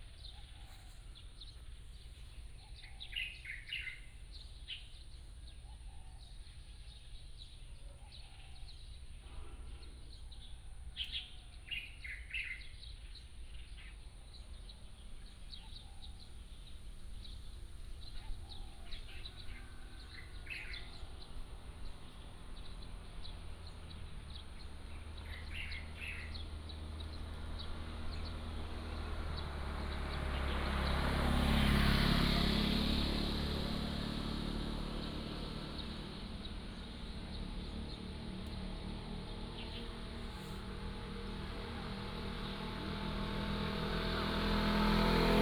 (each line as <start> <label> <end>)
0.0 Birds singing 32.8
34.4 Birds singing 45.4